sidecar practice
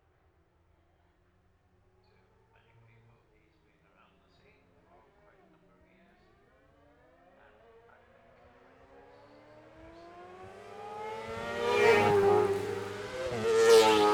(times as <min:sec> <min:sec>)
0:07.2 0:14.1